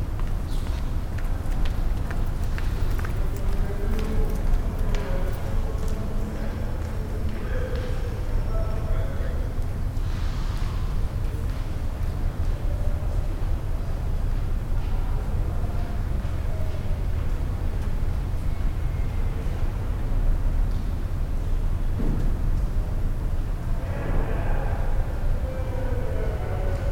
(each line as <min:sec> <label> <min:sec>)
0:00.0 people passing 0:19.8